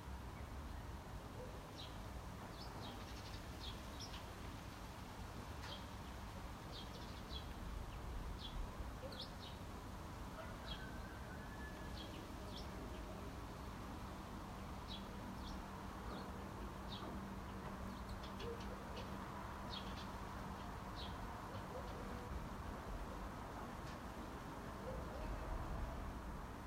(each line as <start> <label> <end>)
5.5 Birds 9.7
10.3 Birds 22.5